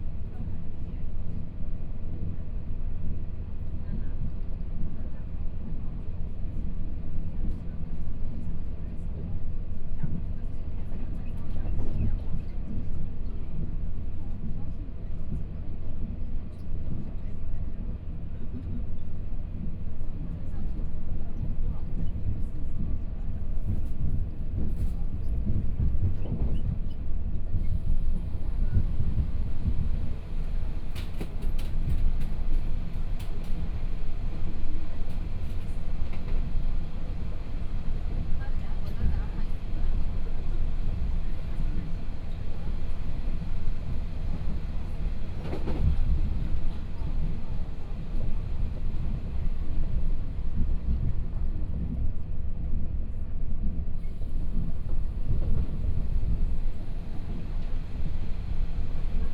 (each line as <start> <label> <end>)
0.0 train 59.3